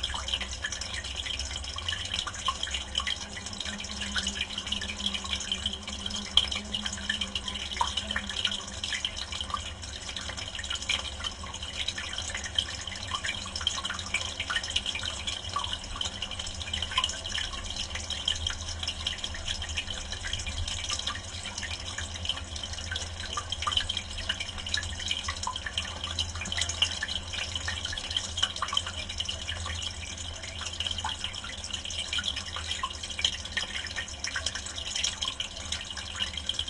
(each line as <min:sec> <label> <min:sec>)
0:00.0 pipe 0:36.6
0:00.0 water 0:36.6